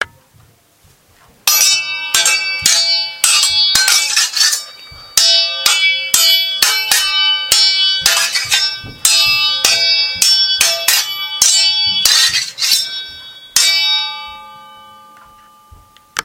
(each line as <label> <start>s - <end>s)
Sword Fight 1.5s - 14.5s